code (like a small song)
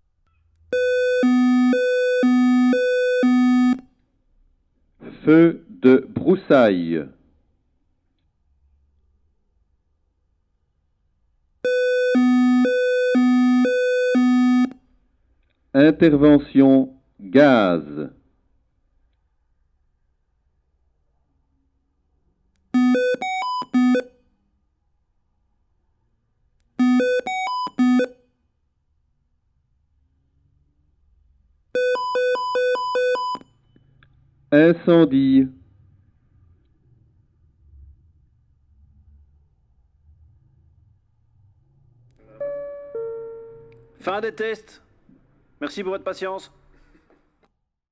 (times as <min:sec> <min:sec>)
0:00.8 0:03.8, 0:11.7 0:14.7